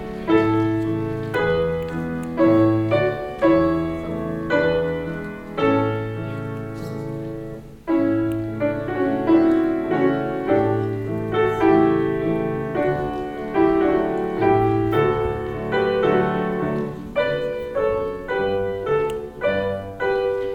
0.0s klavier vorspiel 20.5s

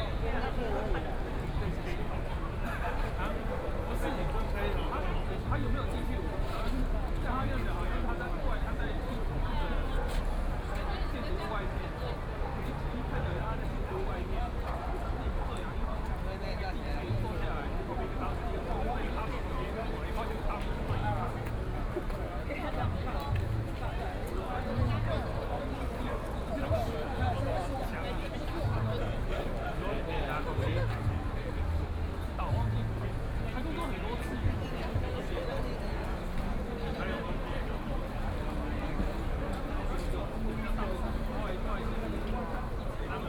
0.0s protest crowd 43.2s

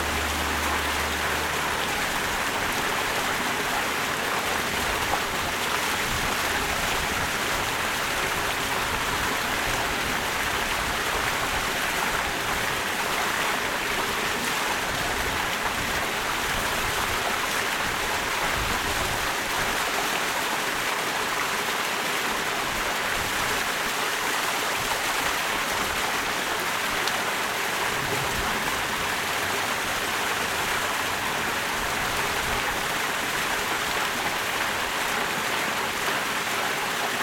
0.0s Small waterfall 37.2s

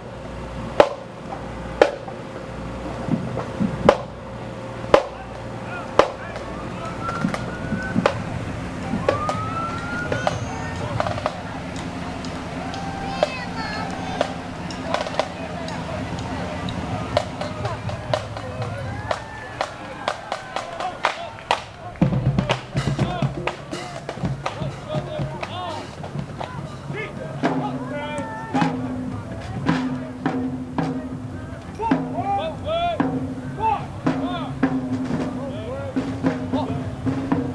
0.0s drums 37.5s
0.0s kids 37.5s
0.0s muscle cars 37.5s
0.0s soldiers 37.5s
0.0s police sirens 29.5s

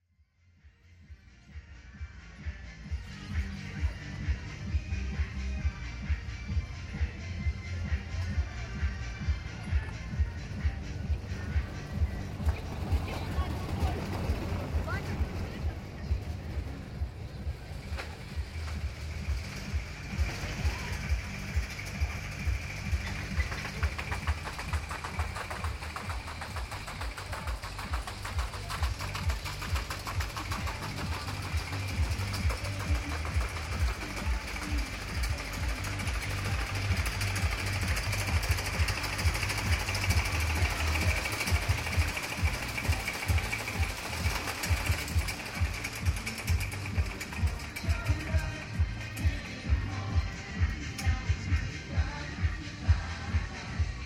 0.6s fair attractions 54.0s
7.1s Roller Caster 52.8s

